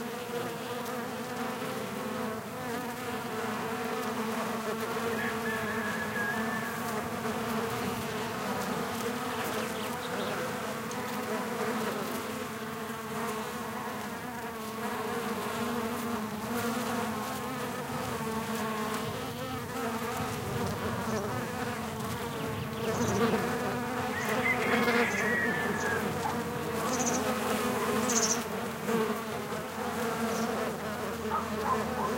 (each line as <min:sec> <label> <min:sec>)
0:00.0 Buzzing bees on a Rosemary shrub 0:32.1
0:04.9 Rooster calls 0:07.9
0:05.0 birds singing 0:07.0
0:09.2 birds singing 0:10.6
0:18.9 wind noise 0:24.2
0:21.0 birds singing 0:28.6
0:22.4 Rooster calls 0:28.4
0:25.3 dogs barking 0:26.8
0:30.2 birds singing 0:30.7
0:31.2 Rooster calls 0:32.1
0:31.2 dogs barking 0:32.1
0:31.3 birds singing 0:32.1